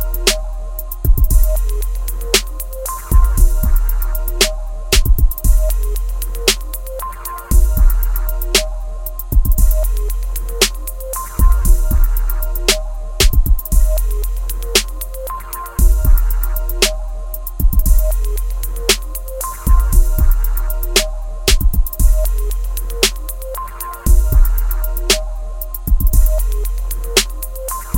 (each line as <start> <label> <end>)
5.0 kick 5.4
13.2 kick 13.6
21.5 kick 21.9